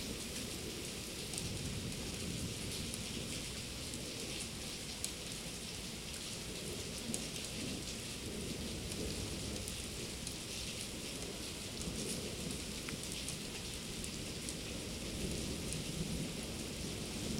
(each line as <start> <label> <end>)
0.0 rain 17.3